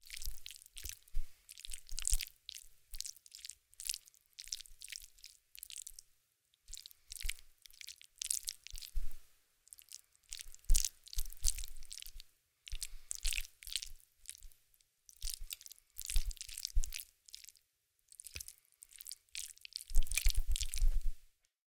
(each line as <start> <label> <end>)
0.0 eat some slimy food 21.1